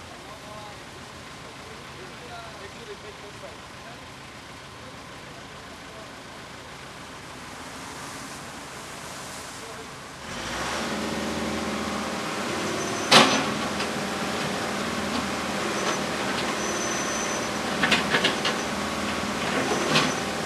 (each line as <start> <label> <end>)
10.2 Construction saw 20.4